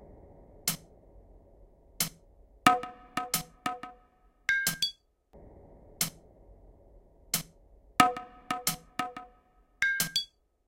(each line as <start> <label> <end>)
2.0 drum 4.0
7.4 drum 10.3